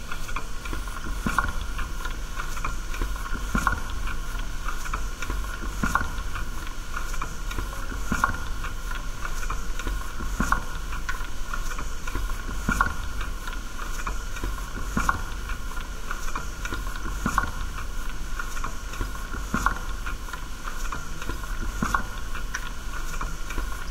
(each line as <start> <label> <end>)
0.0 quiet noise of running gas boiler 23.9